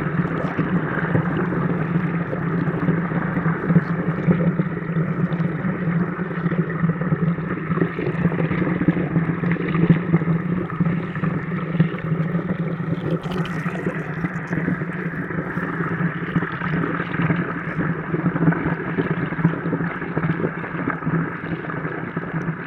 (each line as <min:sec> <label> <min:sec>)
0:00.0 mountain river 0:07.0
0:07.8 mountain river 0:18.0